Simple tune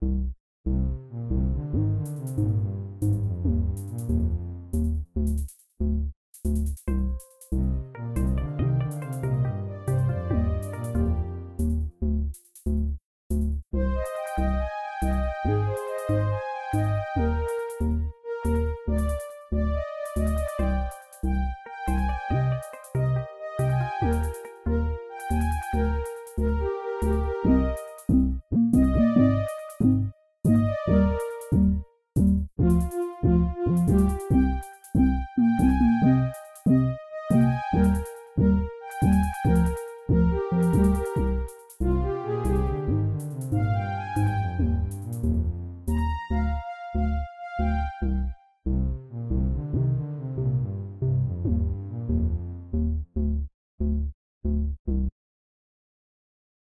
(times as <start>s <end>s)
6.9s 11.7s, 13.9s 45.2s, 45.9s 48.5s